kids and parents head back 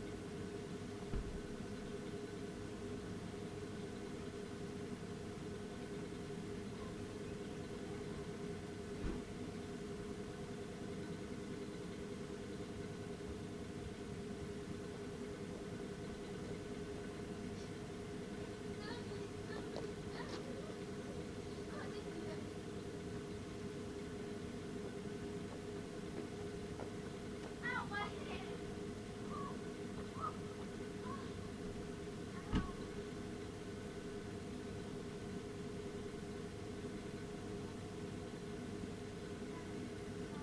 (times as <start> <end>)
15.8 33.4